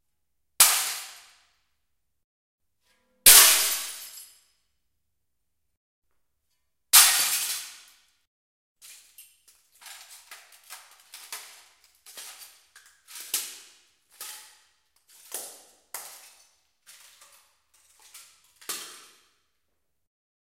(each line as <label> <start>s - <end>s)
Breaks huge mirrors 3.3s - 4.2s